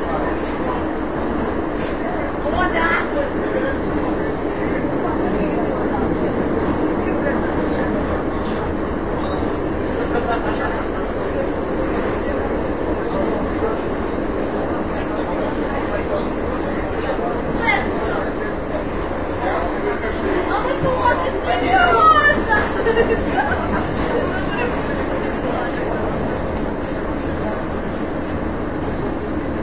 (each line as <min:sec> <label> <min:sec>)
0:00.0 subway 0:29.6
0:10.0 laugh 0:10.9
0:22.6 laugh 0:24.8